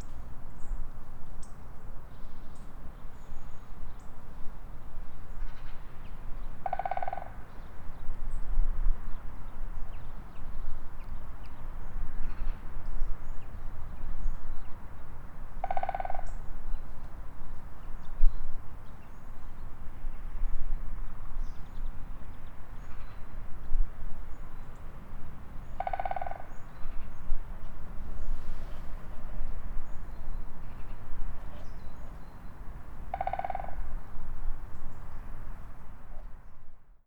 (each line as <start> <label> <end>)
6.6 Woodpecker’s rhythmic concert 7.3
25.8 Woodpecker’s rhythmic concert 26.6
33.1 Woodpecker’s rhythmic concert 33.9